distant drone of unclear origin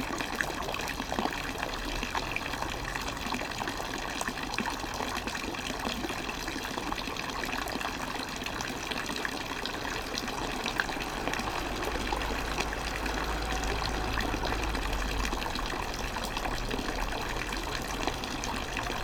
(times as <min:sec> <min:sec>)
0:09.4 0:19.0